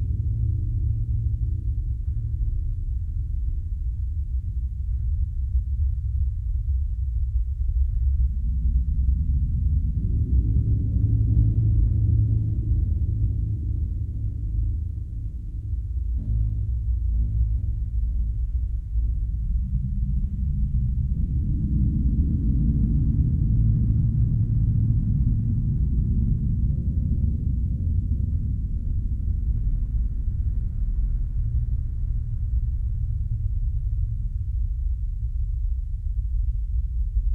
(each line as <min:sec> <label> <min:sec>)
0:07.6 deep notes created with a osc 0:37.2